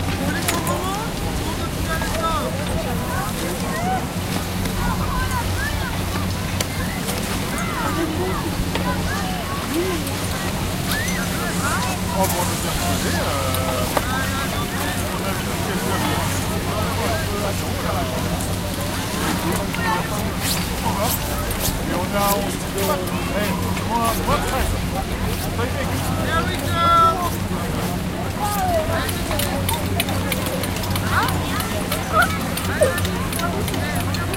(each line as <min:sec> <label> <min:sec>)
0:00.0 people walking on snow 0:34.3